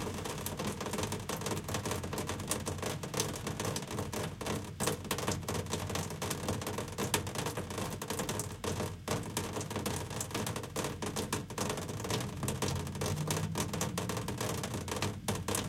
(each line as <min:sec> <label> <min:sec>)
0:00.0 raindrops on a window air conditioner 0:15.6
0:12.4 distant street noise 0:15.6